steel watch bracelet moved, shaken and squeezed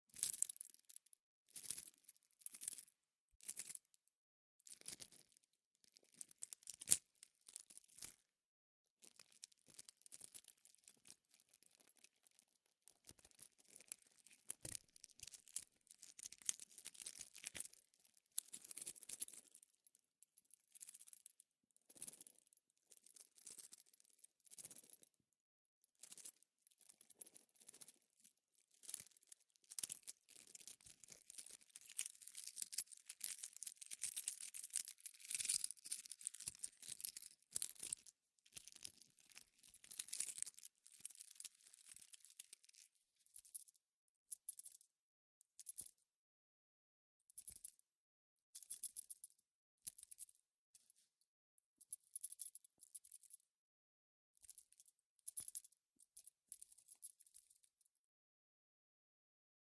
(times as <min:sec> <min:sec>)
0:28.8 0:43.7